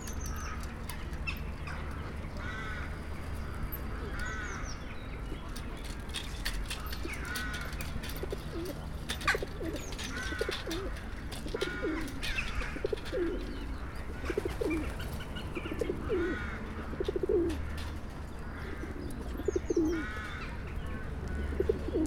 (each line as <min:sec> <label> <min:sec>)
0:05.4 Pigeons 0:22.0